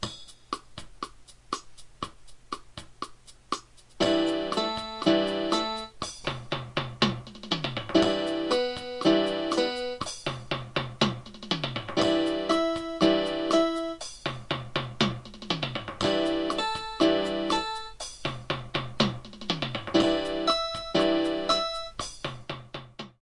keyboard 4.0 - 6.0
keyboard 6.8 - 14.0
keyboard 14.9 - 18.0
keyboard 18.6 - 22.1

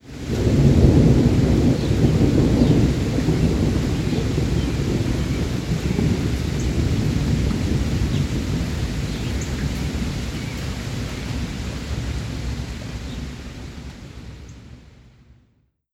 Passing thunder 0.0 - 14.8
Heavy rain 0.0 - 15.1
birdsong 1.7 - 2.0
birdsong 9.1 - 11.4

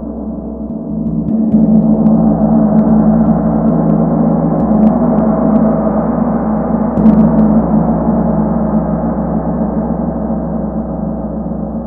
huge gong sound 0.3 - 9.4

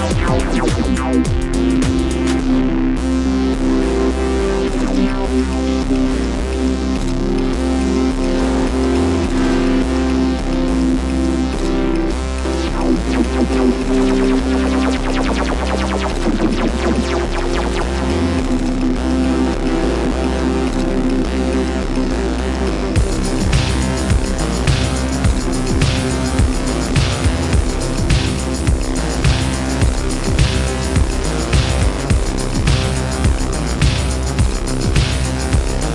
synth 0.0 - 35.9

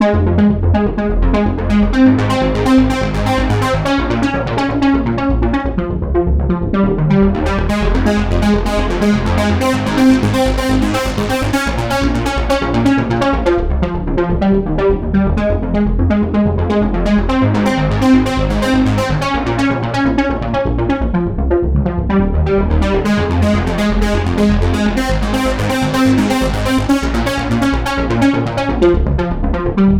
synth ARP 1.6 - 4.7
synth ARP 7.4 - 13.2
synth ARP 17.4 - 20.4
synth ARP 22.8 - 28.6

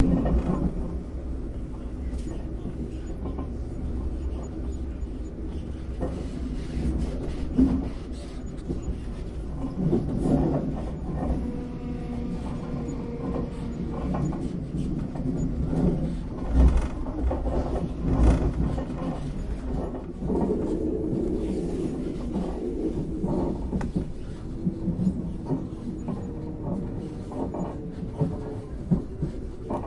mellow rubbing, screwing and squeaking noises 2.1 - 20.2

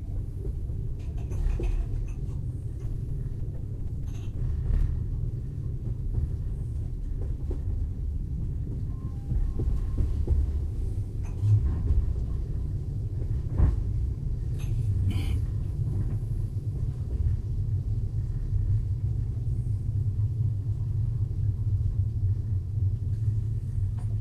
rumble 0.0 - 24.2
passenger boarding 0.0 - 22.3
train stops 8.5 - 13.8

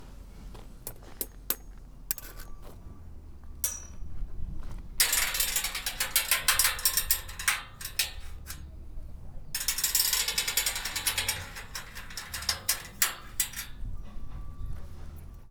Scrapes 0.4 - 2.9
Clanks 0.8 - 2.8
rattle 0.9 - 2.7
Clanks 3.4 - 15.5
Scrapes 3.6 - 15.5
Machines 5.0 - 15.5
rattle 5.0 - 15.3

